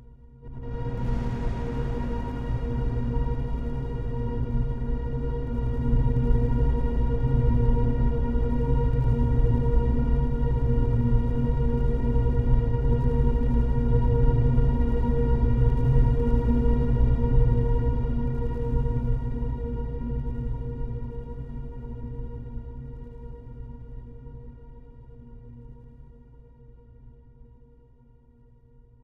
deep menacing rumble 0.5 - 6.6
tense string pattern 0.6 - 5.6

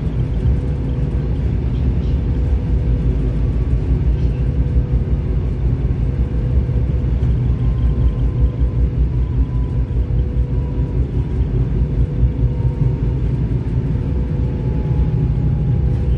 train 0.0 - 16.1

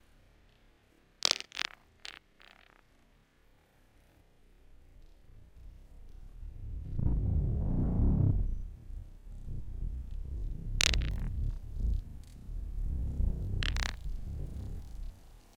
small rock being thrown at other small rocks 13.6 - 15.0

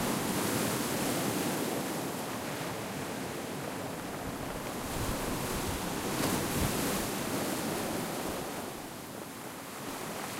waves 0.0 - 10.3

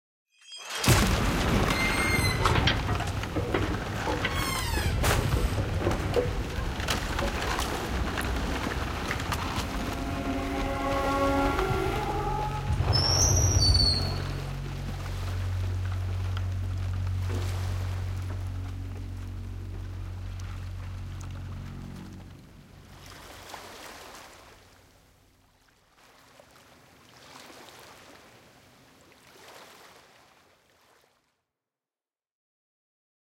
wood falling down all around 0.7 - 12.9
boat that's sailing at fast speeds crashing into a sandy shore 0.8 - 4.2
screeching to a halt 1.6 - 3.0
screeching to a halt 9.5 - 14.6

